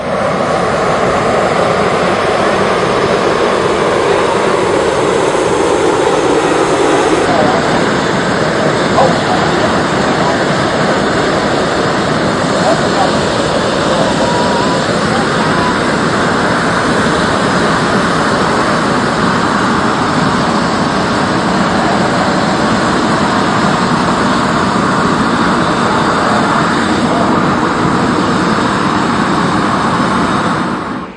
hot-air balloon being initially primed by its gas heater 0.0 - 31.1

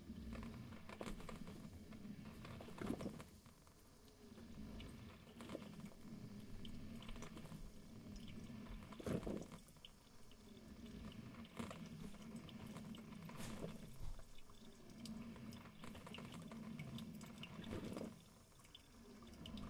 Coffee brewing 0.0 - 19.6

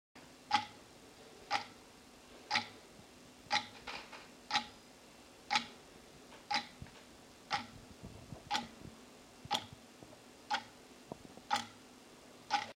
clock ticking 0.5 - 0.8
clock ticking 1.5 - 1.8
clock ticking 2.5 - 2.8
clock ticking 3.5 - 3.8
clock ticking 4.5 - 4.8
clock ticking 5.5 - 5.7
clock ticking 6.5 - 6.8
clock ticking 7.5 - 7.7
clock ticking 8.5 - 8.7
clock ticking 9.5 - 9.7
clock ticking 10.5 - 10.7
clock ticking 11.5 - 11.8
clock ticking 12.5 - 12.7

